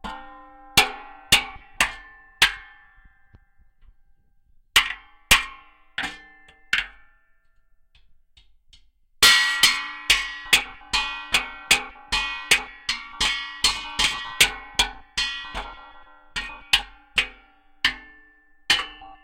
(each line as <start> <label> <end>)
0.0 banging it with a stick 3.0
9.2 banging it with a stick 19.2